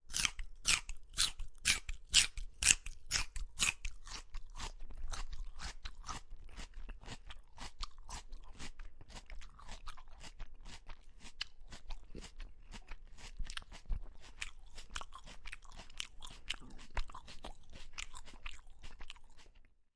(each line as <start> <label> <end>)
0.1 Chewing a celery stick 19.7